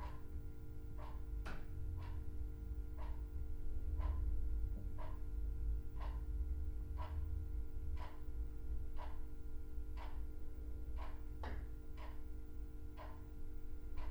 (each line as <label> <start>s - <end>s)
clock 0.0s - 0.3s
electric heater buzzes and clicking 0.0s - 14.1s
clock 1.0s - 6.3s
clock 7.0s - 8.3s
clock 9.0s - 9.3s
clock 10.0s - 10.4s
clock 11.0s - 13.3s